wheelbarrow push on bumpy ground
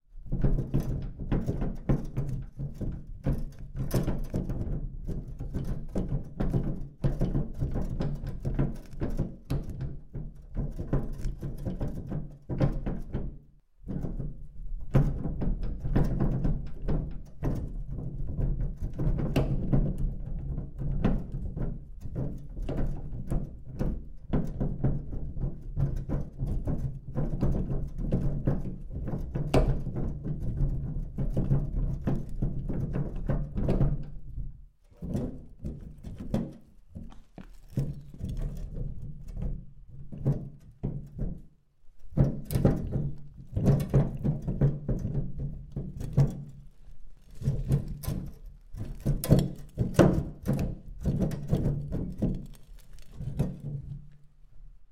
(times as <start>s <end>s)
28.2s 41.1s, 42.0s 54.2s